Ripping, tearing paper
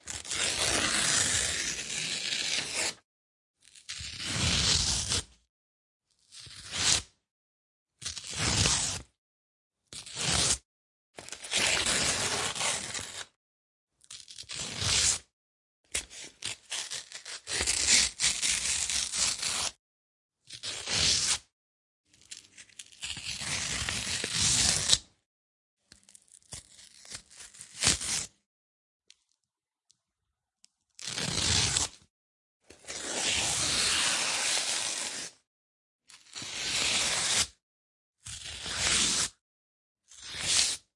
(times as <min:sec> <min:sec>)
0:00.0 0:03.0, 0:11.2 0:13.4, 0:16.0 0:19.8, 0:22.2 0:25.0, 0:25.9 0:28.4, 0:31.0 0:32.0, 0:32.7 0:35.4, 0:36.1 0:37.6, 0:38.3 0:39.4